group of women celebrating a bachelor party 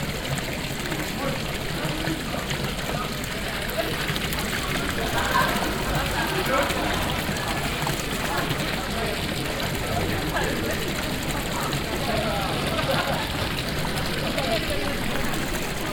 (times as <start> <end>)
4.0 8.7